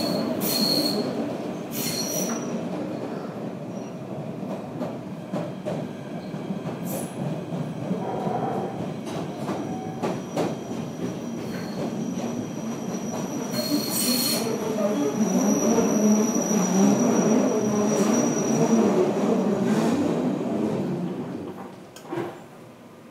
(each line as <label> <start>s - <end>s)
Subway Train Ride 0.0s - 23.1s